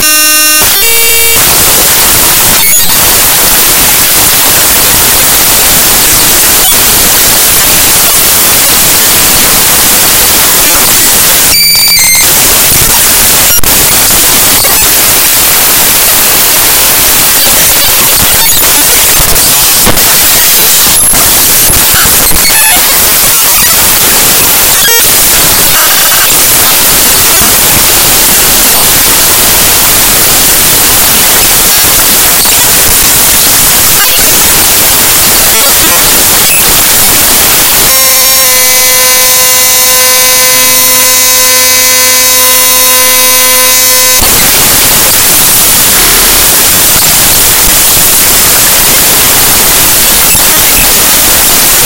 glitchy sounds 0.0 - 51.8

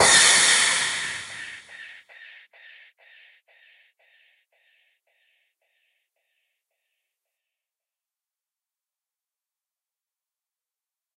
crash 0.0 - 1.8

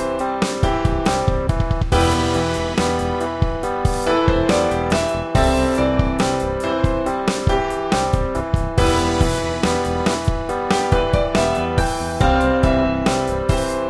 instrumental 0.0 - 13.8

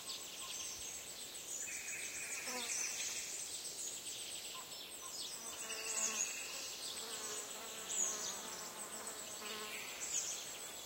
insects flying around 0.0 - 10.8

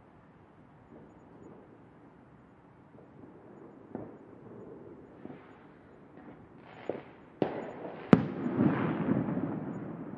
distant fireworks 0.0 - 10.1

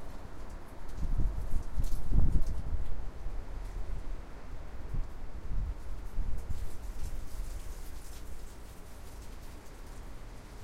wind 0.0 - 10.6
leaves rustling on the floor 4.8 - 10.6

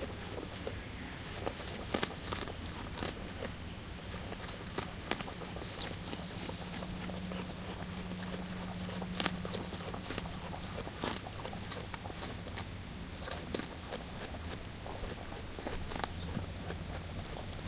Wombat eating and scratching 0.0 - 17.6

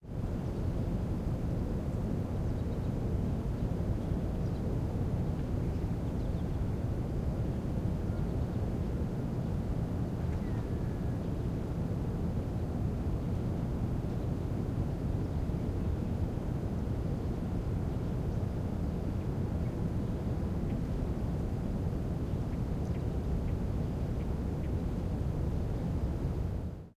Empty City Air 0.0 - 26.9
Faint Bird Chirps 10.2 - 11.3

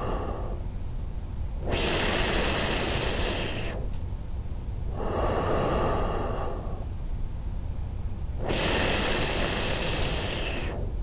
man breathing through a ABC mask 0.0 - 0.7
man breathing through a ABC mask 1.6 - 4.0
man breathing through a ABC mask 4.9 - 7.0
man breathing through a ABC mask 8.4 - 11.0

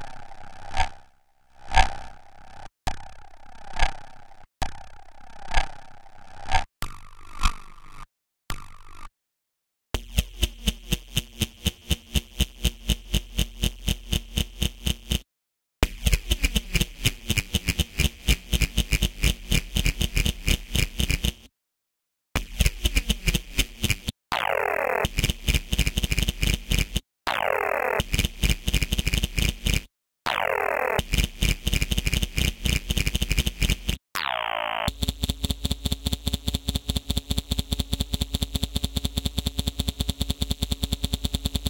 scientific glitches 24.3 - 41.6

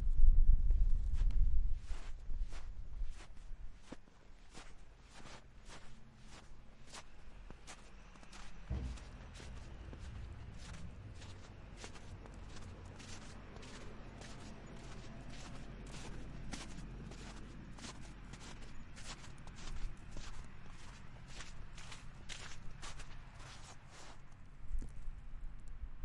Walking in wet snow 1.1 - 25.1

